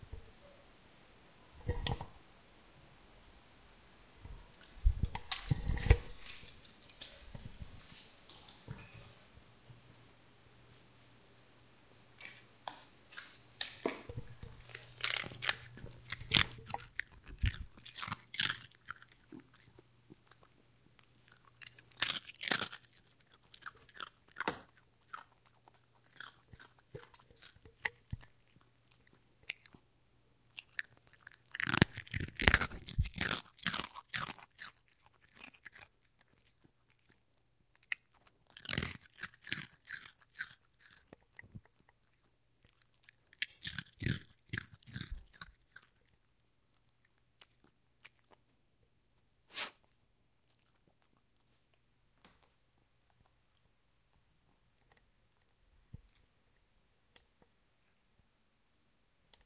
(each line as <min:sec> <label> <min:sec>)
0:14.1 Dog Chewing Snack 0:29.8
0:30.5 Dog Chewing Snack 0:48.5